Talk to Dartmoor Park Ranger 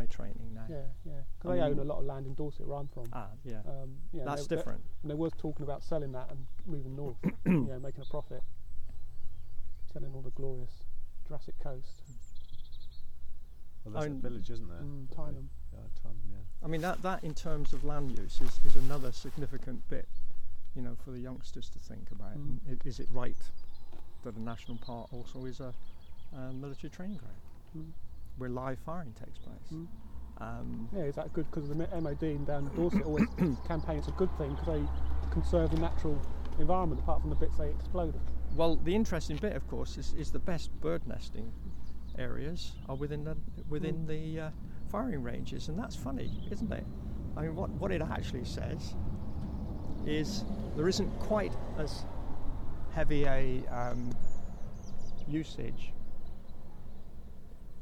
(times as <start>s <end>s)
0.0s 8.4s, 13.8s 20.1s, 20.7s 23.6s, 24.2s 49.0s